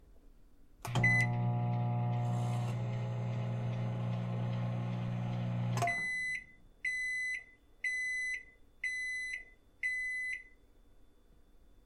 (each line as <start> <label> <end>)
0.8 microwave 7.2
1.0 beep 1.3
5.8 beep 10.6